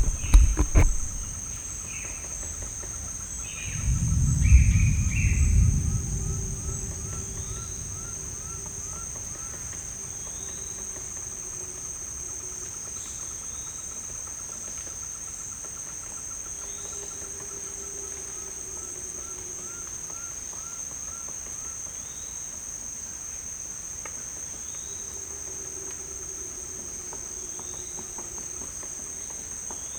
rain 3.4 - 12.0

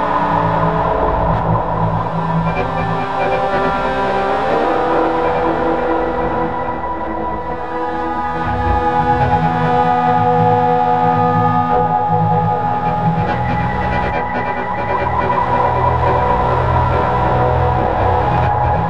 drone 0.0 - 18.8

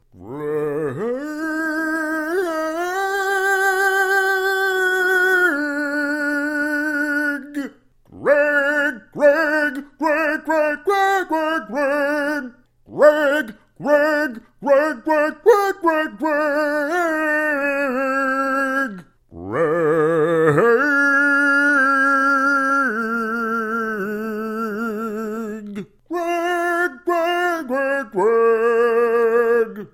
laying down some operatic phrases 0.0 - 29.9

